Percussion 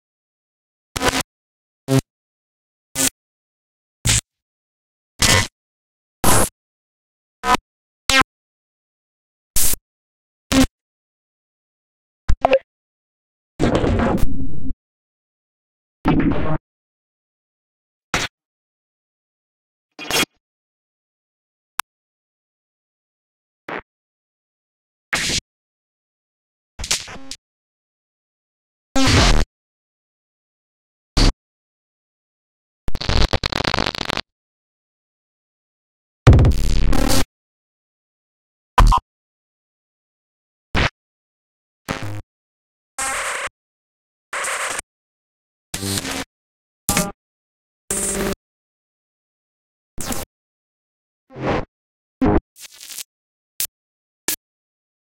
0:36.3 0:36.9

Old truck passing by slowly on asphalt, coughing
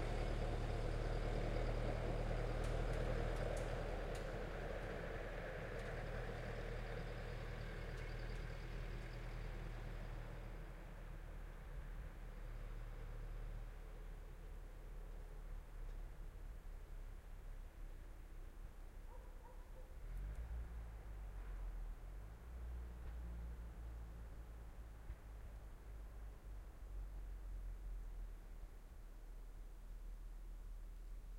0:19.0 0:22.3

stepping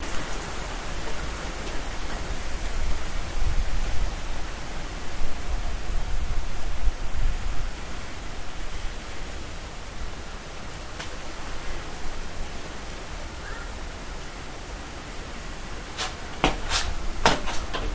0:16.0 0:17.9

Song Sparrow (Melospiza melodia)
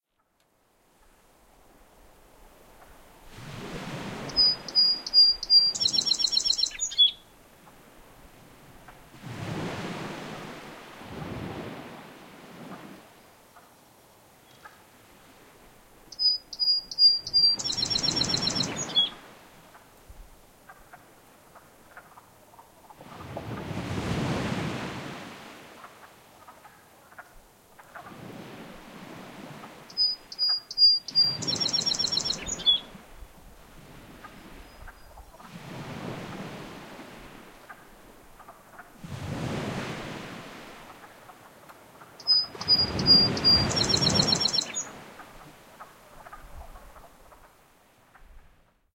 0:16.2 0:19.2, 0:30.0 0:32.8, 0:42.2 0:44.9

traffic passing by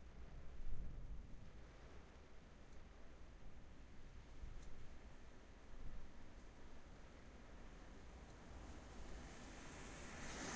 0:08.4 0:10.5

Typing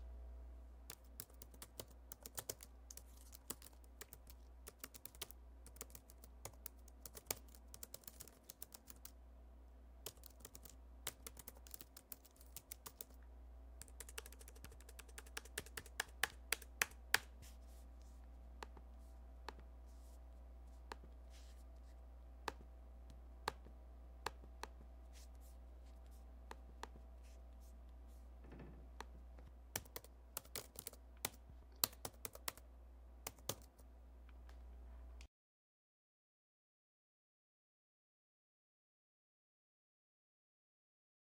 0:00.9 0:09.2, 0:10.1 0:13.2, 0:13.8 0:17.0, 0:29.8 0:32.6, 0:33.3 0:33.8

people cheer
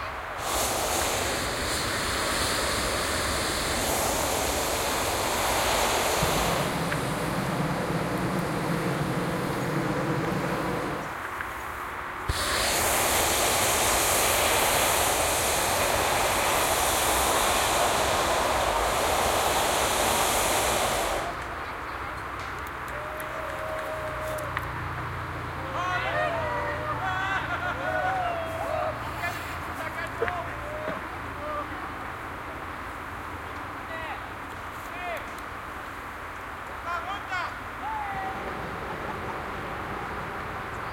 0:22.8 0:24.8, 0:25.6 0:29.2

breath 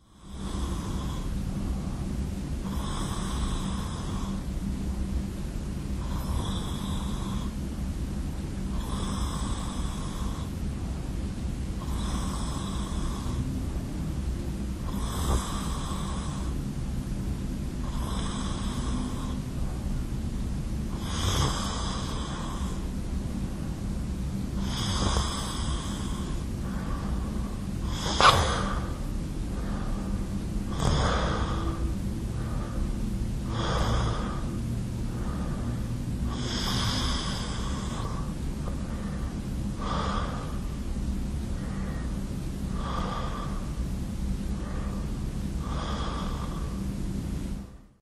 0:00.1 0:04.4, 0:24.6 0:40.8, 0:41.5 0:43.8, 0:44.5 0:47.0

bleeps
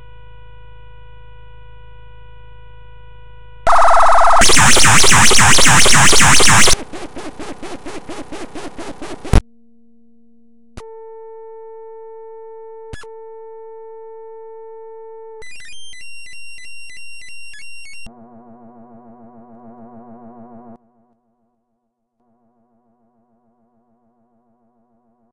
0:03.7 0:06.8

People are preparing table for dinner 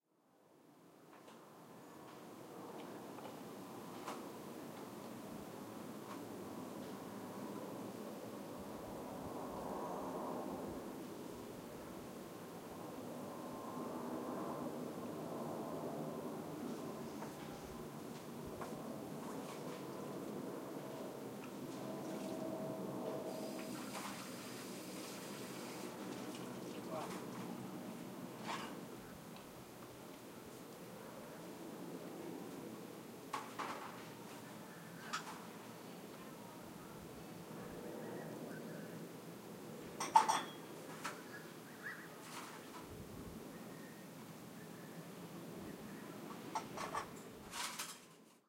0:23.3 0:27.6, 0:28.4 0:28.9, 0:33.3 0:36.4, 0:40.0 0:41.5, 0:42.2 0:42.9, 0:46.3 0:48.4

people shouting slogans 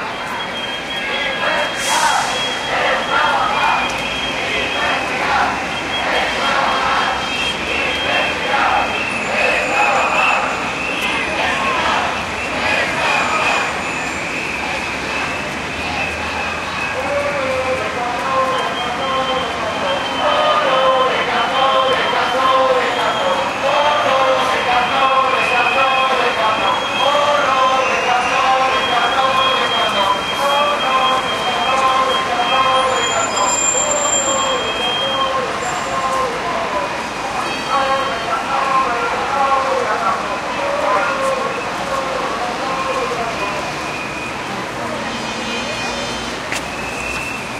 0:01.0 0:13.8, 0:16.8 0:33.8

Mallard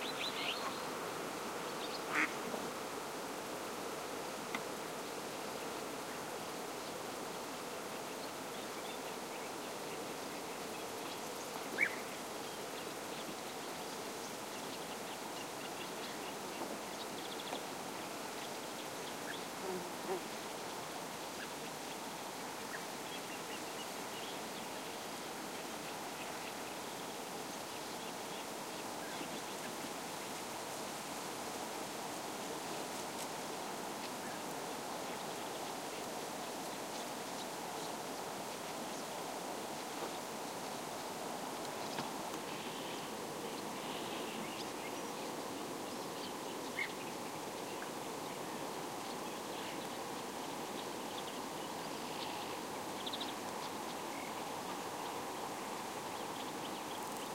0:02.1 0:02.3

